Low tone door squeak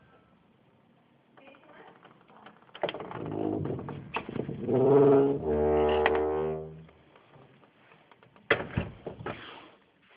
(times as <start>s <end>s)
4.7s 6.7s